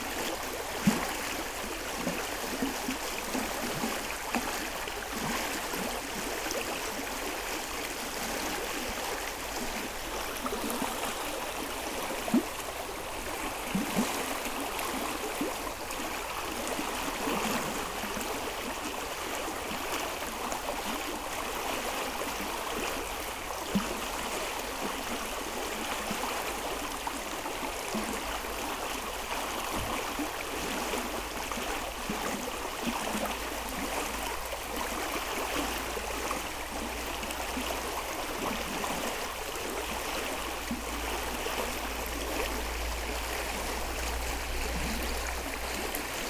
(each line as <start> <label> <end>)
0.0 river, with waves because of the constant rain 46.2